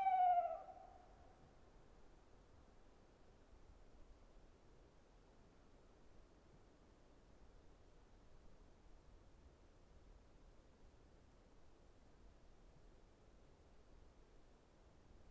Tawny owl singing 0:00.0 - 0:01.0
Gentle breeze on the treetop 0:00.0 - 0:15.3

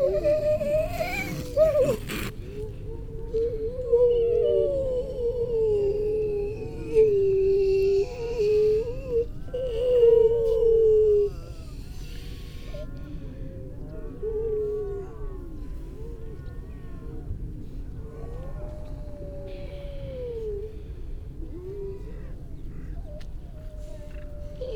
starling 0:00.0 - 0:02.3
human baby 0:00.0 - 0:02.4
pied wagtail 0:00.0 - 0:02.4
grey seals 0:00.0 - 0:24.7
human baby 0:04.2 - 0:12.8

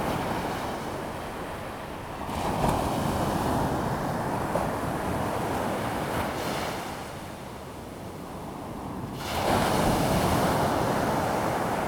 waves 0:00.0 - 0:07.1

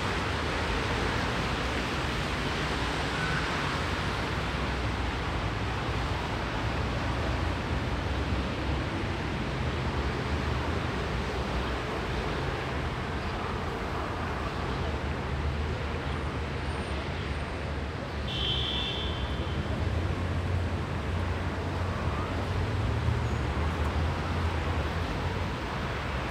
crossroads’ traffic noise 0:00.0 - 0:26.3

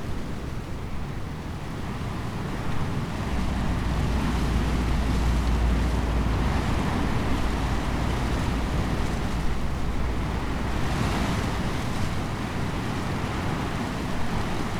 wind blown elder tree 0:00.8 - 0:14.7

